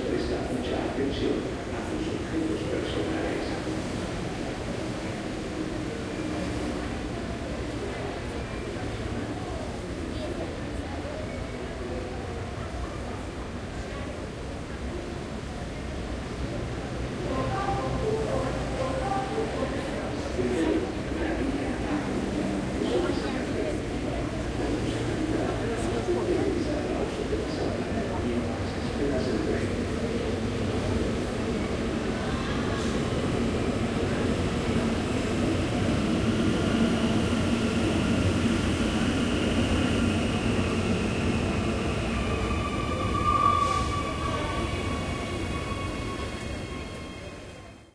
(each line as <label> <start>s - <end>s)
frequent trains passing by 0.0s - 47.9s